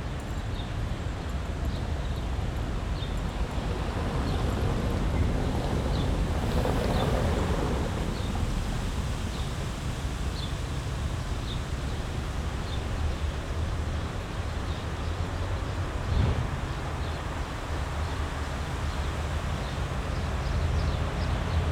wind in birch trees 0.4 - 21.7
traffic hum 0.8 - 18.9

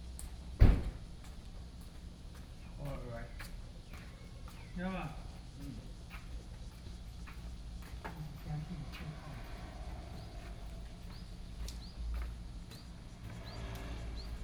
Traffic Sound 0.3 - 14.4

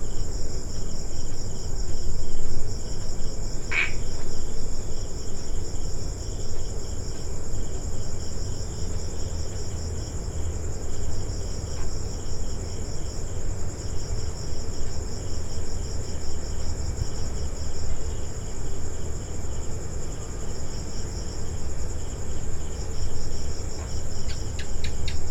crickets 0.0 - 25.3
just one frog making calls 3.7 - 4.1

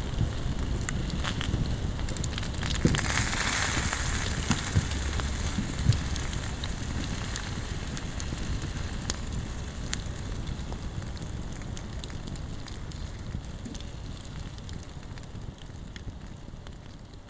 fireplace with some grill and food on it 0.0 - 17.2

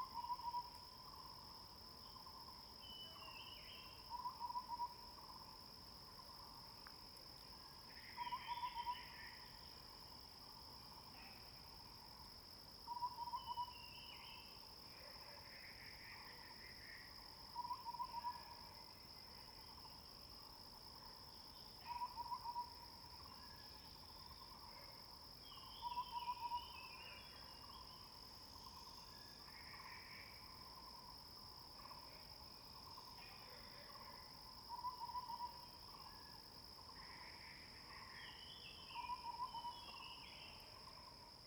Frog sounds 21.8 - 22.8
Frog sounds 32.8 - 36.0
Frog sounds 36.9 - 41.1

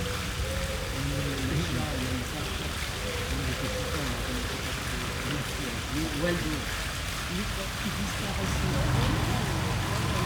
fountain 0.0 - 10.2
people chatting on benches 0.0 - 10.2
cars pass 6.2 - 10.2

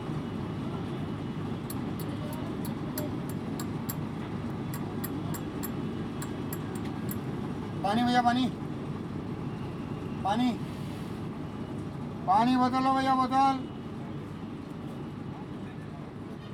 Water salesman in a sleeper bus 0.0 - 16.5

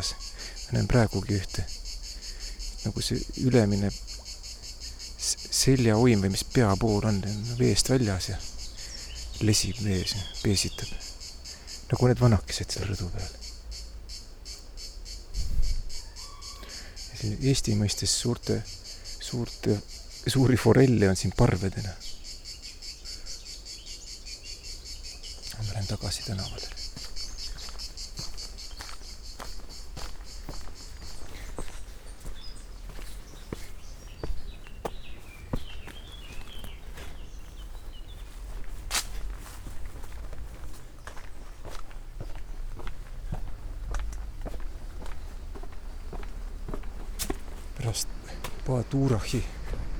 Walking & talking 0.0 - 1.9
Walking & talking 5.2 - 11.3
Walking & talking 25.2 - 49.9

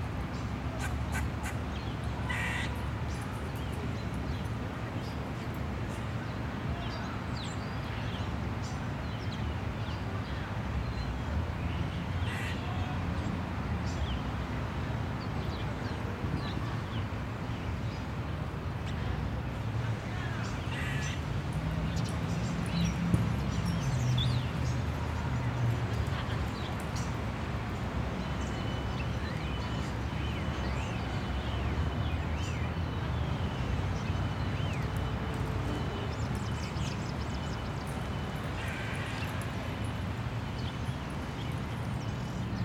various birds 0.2 - 13.0
various birds 15.2 - 42.6

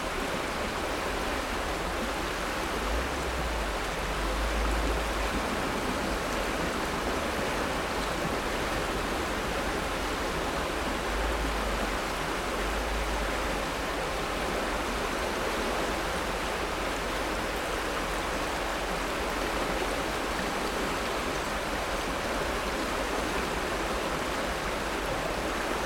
high water flow on a side tributary 0.0 - 25.8

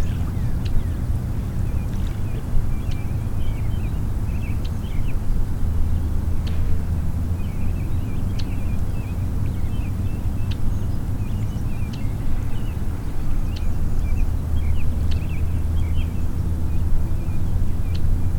Water's Edge 0.0 - 4.5
Small waterfowl in the distance 0.0 - 5.1

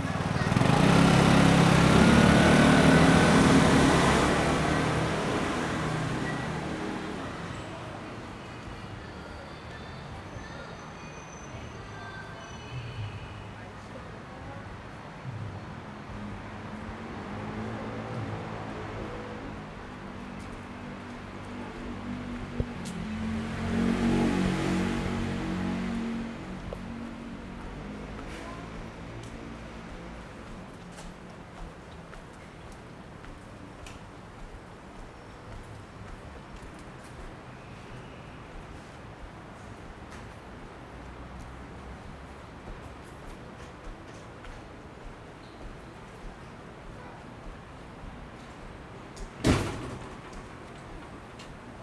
Walking in a small alley 0.0 - 51.8

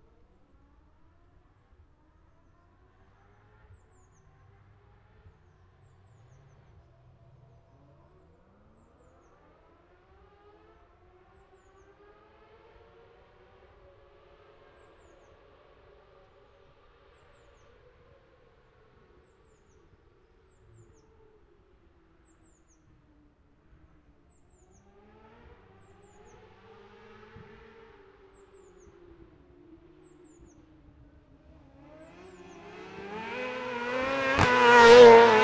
motorcycle road racing 18.6 - 35.4
Sidecar practice 24.8 - 35.4

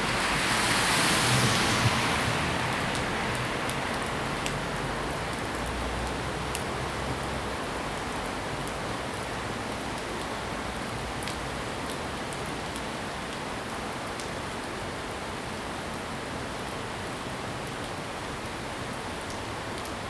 Traffic Sound 0.0 - 8.8
Heavy rain 0.0 - 20.0

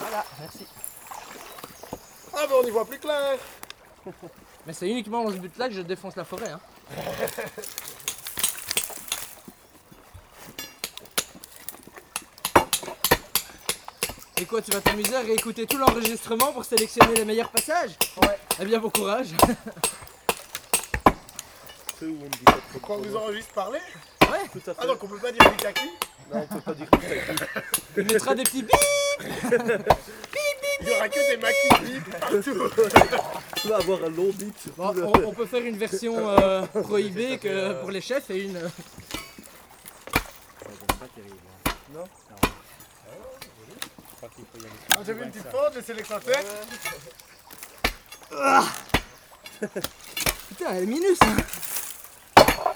small river 0.0 - 52.7
break the concrete bridge 6.2 - 26.3
break the concrete bridge 31.7 - 52.7

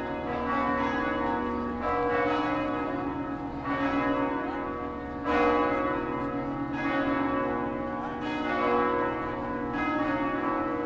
Wedding Bells 0.0 - 10.8

